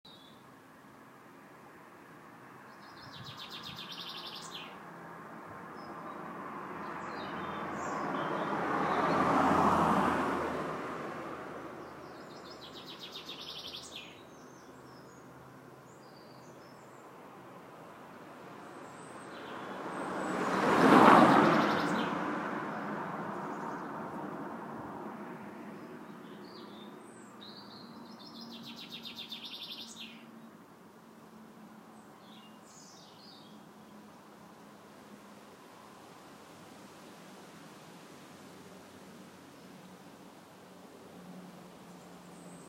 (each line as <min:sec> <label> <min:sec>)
0:00.1 traffic 0:42.6
0:02.6 birds 0:10.6
0:11.8 birds 0:17.9
0:18.5 birds 0:24.3
0:25.6 birds 0:30.6
0:31.3 birds 0:36.0